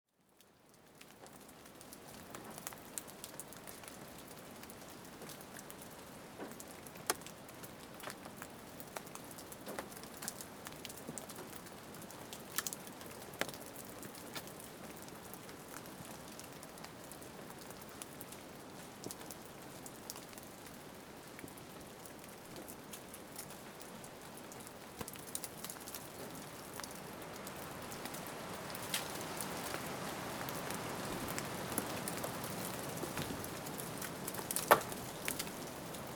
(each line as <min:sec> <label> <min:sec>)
0:00.1 Rain in forest 0:36.1
0:00.2 wind 0:36.1